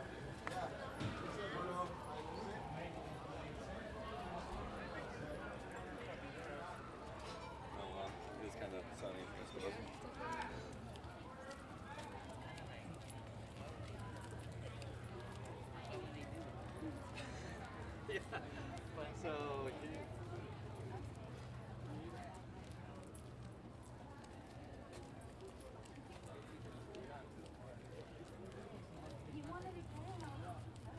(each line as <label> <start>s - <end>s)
fire truck or an ambulance car from far away 0.0s - 30.9s
occasional talks from people 0.0s - 30.9s